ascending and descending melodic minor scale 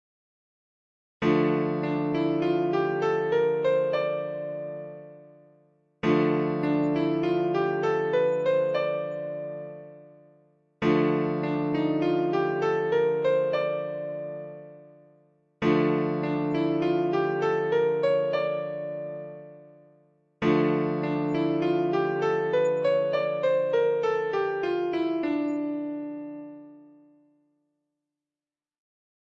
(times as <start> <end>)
6.0 10.0, 10.9 14.8, 15.6 19.6, 20.4 26.9